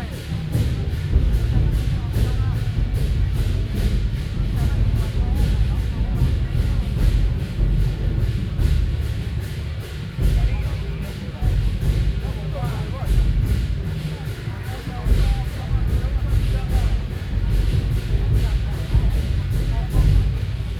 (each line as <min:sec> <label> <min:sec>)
0:00.0 Traditional musical instruments 0:20.7